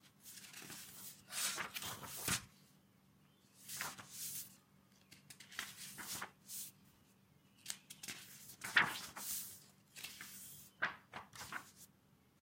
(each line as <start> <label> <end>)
0.2 Paging through a book 2.5
3.6 Paging through a book 6.7
7.6 Paging through a book 11.9